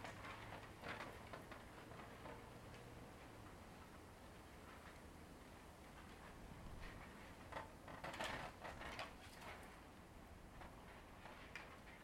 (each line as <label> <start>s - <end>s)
Rattling of wooden prayer boards against the wind 0.0s - 2.7s
Rattling of wooden prayer boards against the wind 5.9s - 12.0s